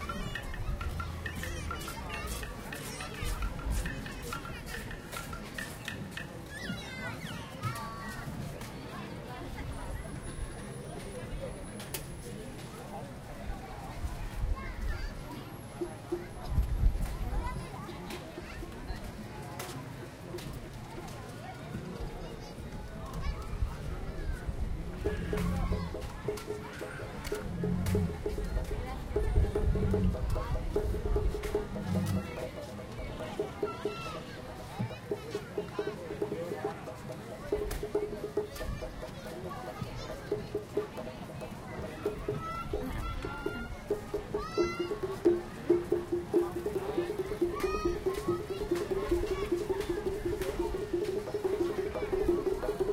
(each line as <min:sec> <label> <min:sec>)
0:00.0 percussion textures 0:07.2
0:00.0 windy 0:52.9
0:15.7 percussion textures 0:19.2
0:24.4 percussion textures 0:52.9